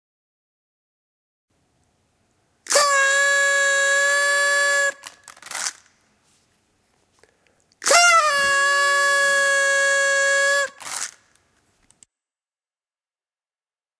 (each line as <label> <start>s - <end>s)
roll-out whistle 2.7s - 5.8s
roll-out whistle 7.8s - 11.2s